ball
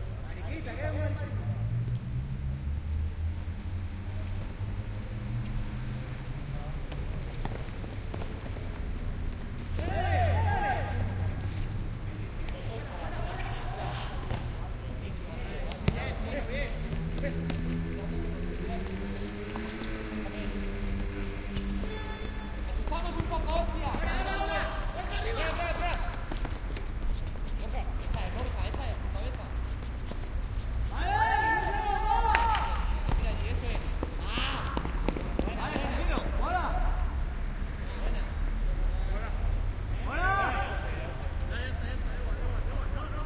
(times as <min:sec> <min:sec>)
0:14.2 0:14.6, 0:15.6 0:16.3, 0:21.6 0:24.1, 0:32.3 0:36.3